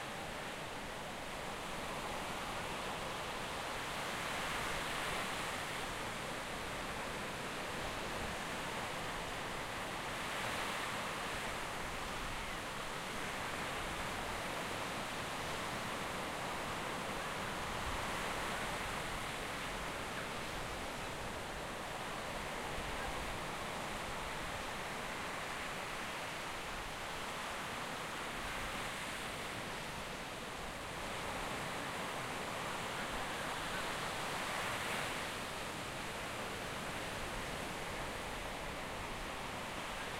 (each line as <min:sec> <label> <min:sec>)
0:00.0 waves on the sand 0:40.1